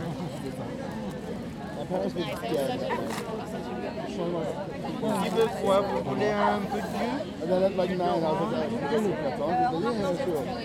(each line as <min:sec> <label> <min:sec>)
0:00.0 Conversations in the park 0:10.6